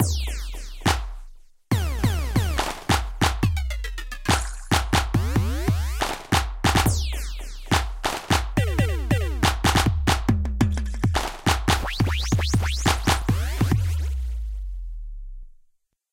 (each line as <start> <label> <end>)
0.8 clap 1.3
1.7 synthesizer 10.0
2.6 clap 3.6
4.2 clap 6.9
7.7 clap 8.6
9.4 clap 11.9
11.1 synthesizer 15.0
12.9 clap 13.4